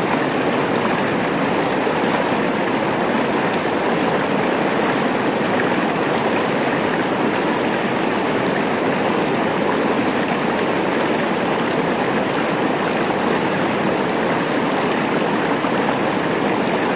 0.0s Gurgling rapids in a moderate size river 16.9s

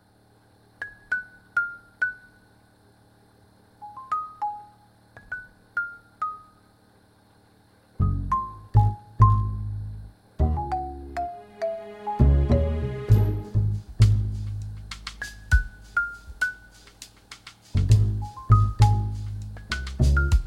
8.0s fridge 11.0s
10.4s guitar 16.2s
10.4s strings 16.3s

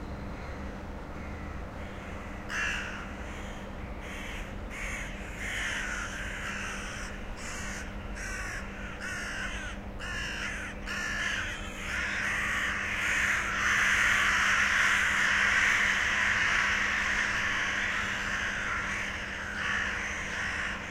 1.2s Flock of crows fly & croak around a house 20.9s

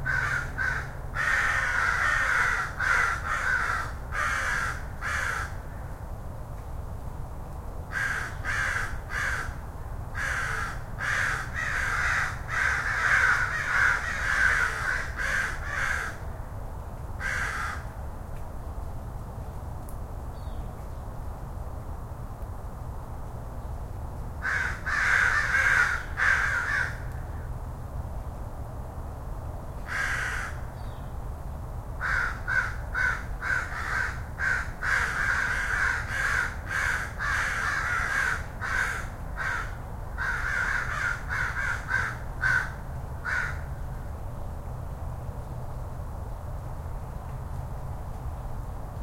0.0s light traffic noise 49.0s
0.0s crows 5.8s
7.9s crows 16.2s
17.2s crows 17.9s
24.4s crows 27.5s
29.8s crows 30.7s
32.0s crows 43.7s

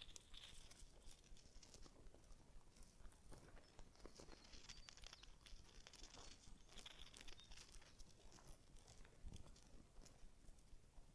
0.0s Wood ants 1.9s
3.5s Wood ants 9.6s

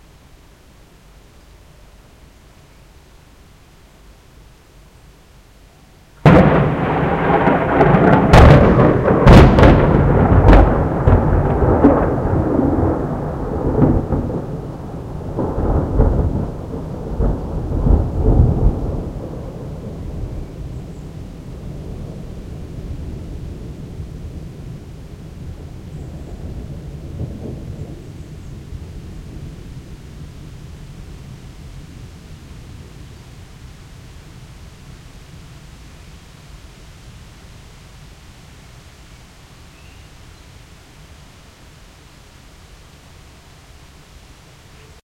0.0s rain 45.0s
6.2s thunderclaps 20.8s
21.4s thunderclaps 32.0s

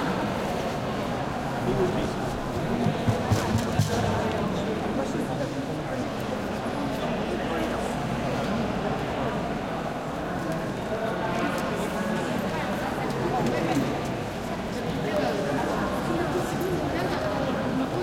0.0s close and distant voices 18.0s

